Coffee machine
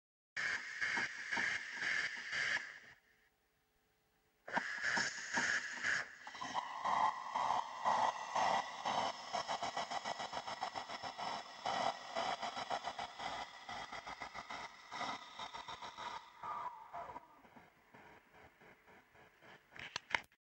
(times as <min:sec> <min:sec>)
0:04.5 0:17.4